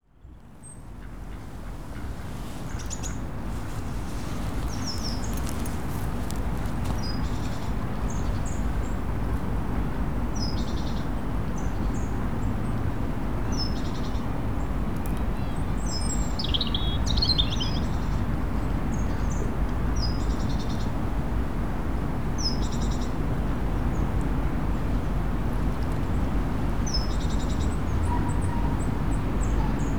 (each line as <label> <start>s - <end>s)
river 0.4s - 29.9s
birds 0.6s - 9.0s